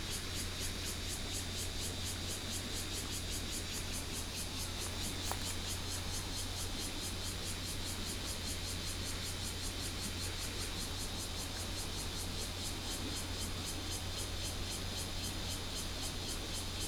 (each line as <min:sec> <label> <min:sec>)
0:00.0 cicadas 0:16.8
0:04.6 Streams 0:07.1